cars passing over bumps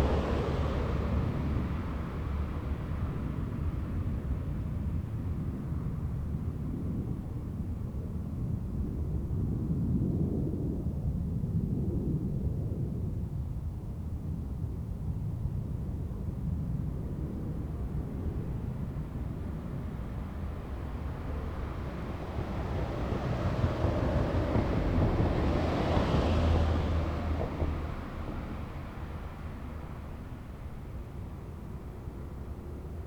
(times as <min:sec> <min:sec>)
0:00.0 0:04.4, 0:19.0 0:33.0